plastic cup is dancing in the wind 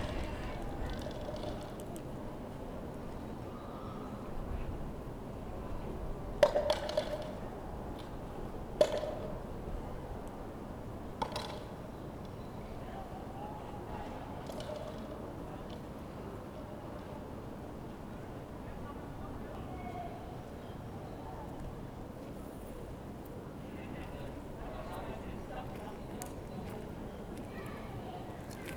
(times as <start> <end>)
0.0 2.0